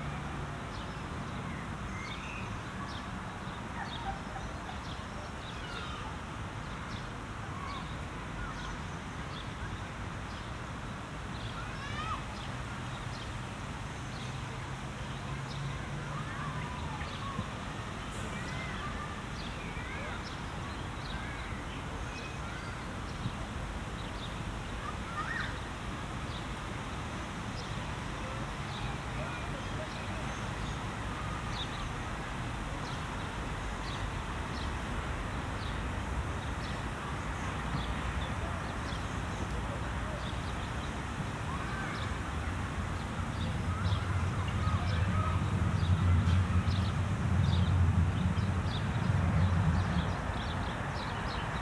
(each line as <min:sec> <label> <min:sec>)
0:24.8 distant cars 0:51.6
0:28.0 bikers 0:51.6
0:44.2 tramways 0:51.6